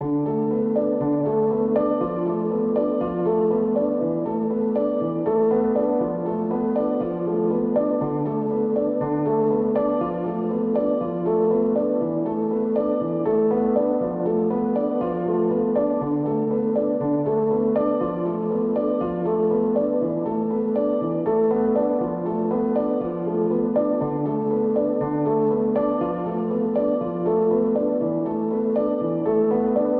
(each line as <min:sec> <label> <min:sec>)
0:00.0 piano 0:29.9